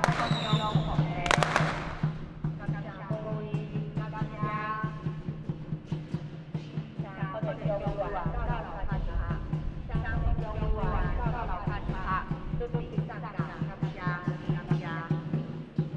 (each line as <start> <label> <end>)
0.0 Firecrackers 4.3